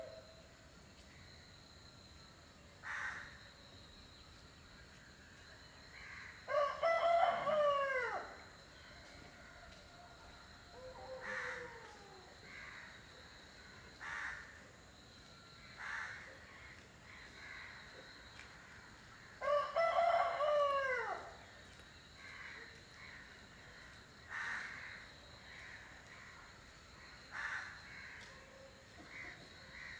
0.0s cricket 29.9s
2.8s crow 3.4s
6.0s crow 8.3s
6.5s rooster 8.4s
10.8s crow 13.0s
14.0s crow 14.6s
15.8s crow 18.0s
19.4s rooster 21.4s
22.2s crow 26.4s
27.3s crow 29.9s

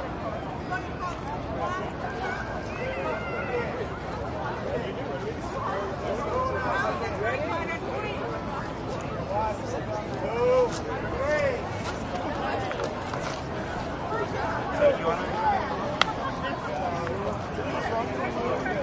0.0s crowd ext medium active walla 18.8s
10.6s steps 14.0s

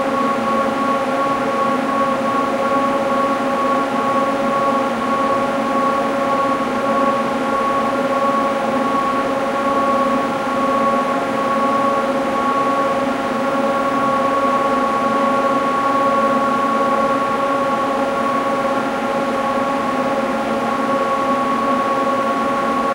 0.0s industrial rackmount air conditioner 22.9s

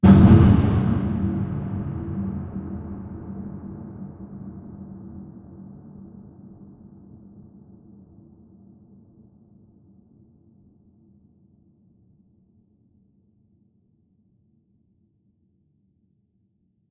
0.0s Huge reverberated hit 6.0s

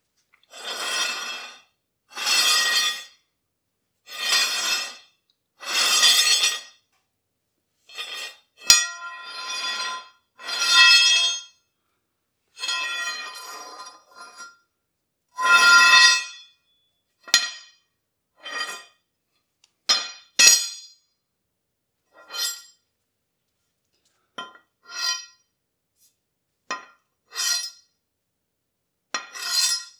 20.0s swords scraping, clashing, clanging, falling 21.0s
29.2s swords scraping, clashing, clanging, falling 29.9s

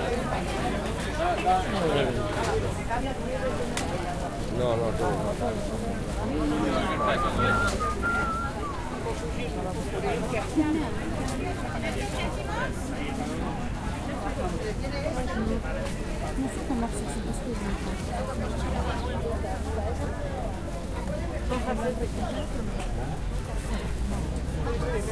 0.0s background talking 25.1s

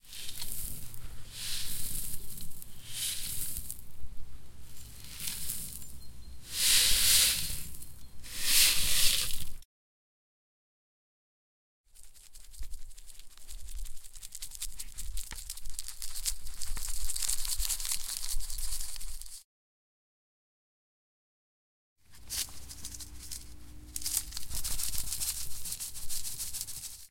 0.0s sand in a bucket 4.0s
4.6s sand in a bucket 9.6s
11.9s sand in a bucket 19.4s
22.1s sand in a bucket 27.1s

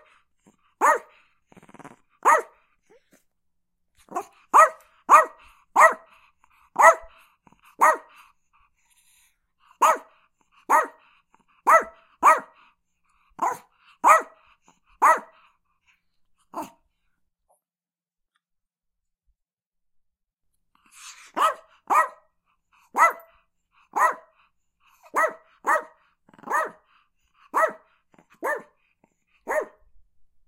0.8s Chihuahua Barking 1.2s
2.2s Chihuahua Barking 2.6s
4.1s Chihuahua Barking 6.1s
6.8s Chihuahua Barking 7.2s
7.8s Chihuahua Barking 8.2s
9.8s Chihuahua Barking 10.1s
10.7s Chihuahua Barking 11.0s
11.6s Chihuahua Barking 12.6s
13.4s Chihuahua Barking 14.4s
15.0s Chihuahua Barking 15.4s
21.3s Chihuahua Barking 22.2s
22.9s Chihuahua Barking 24.4s
25.0s Chihuahua Barking 26.9s
27.5s Chihuahua Barking 28.7s
29.4s Chihuahua Barking 29.8s

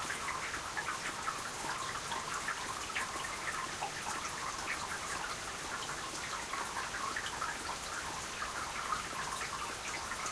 0.0s rain 10.3s

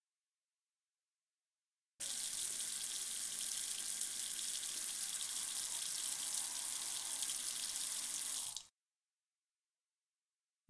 2.0s drain water from the tap 8.7s

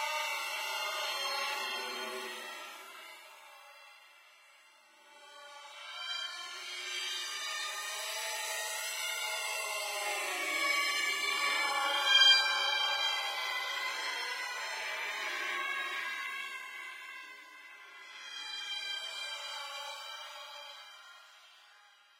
0.0s chant 4.2s
5.3s chant 22.1s

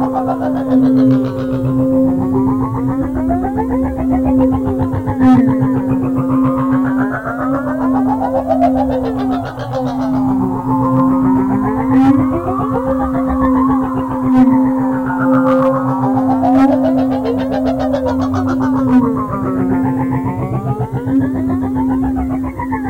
0.0s drone 22.8s

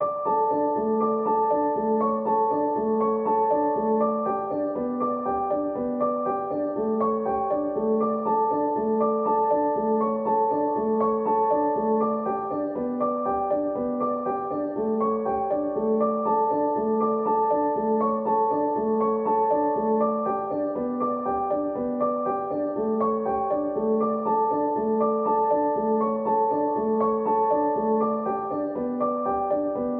0.0s piano 29.9s

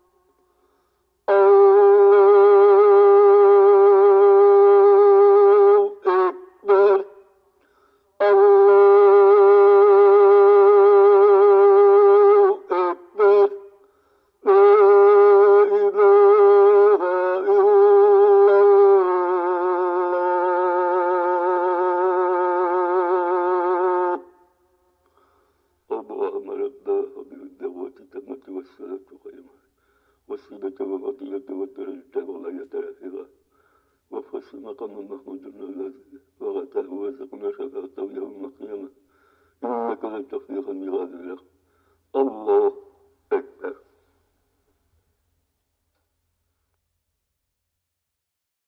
1.3s morning azan 7.3s
8.2s morning azan 13.8s
25.2s morning azan 29.5s
34.1s morning azan 39.0s
39.6s morning azan 44.1s

